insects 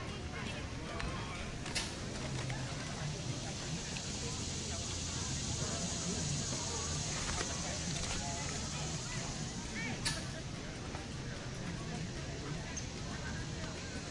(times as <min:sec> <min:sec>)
0:02.0 0:10.4